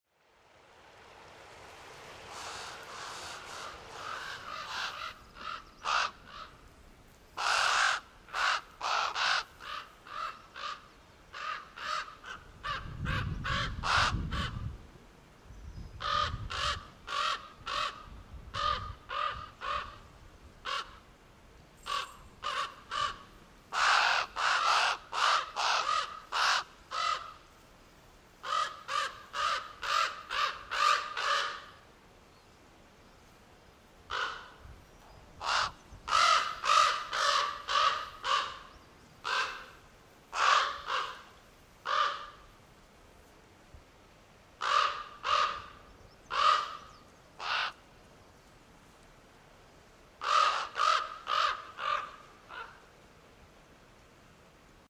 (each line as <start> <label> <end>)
0.1 creek 13.4
2.3 ravens squawking 6.6
7.4 ravens squawking 14.5
21.9 ravens squawking 27.4
35.4 ravens squawking 39.7
40.3 ravens squawking 42.4
44.6 ravens squawking 45.7
46.3 ravens squawking 47.8
50.2 ravens squawking 52.8